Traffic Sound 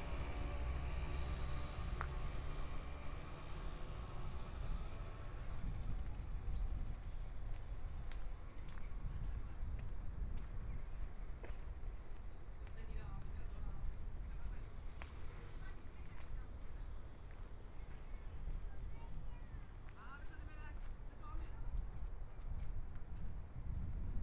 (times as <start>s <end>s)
0.0s 9.3s